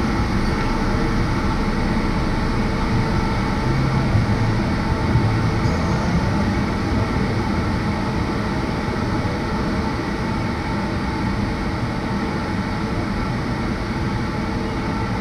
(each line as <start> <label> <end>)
0.0 cars 9.3
0.0 passing by passengers 9.8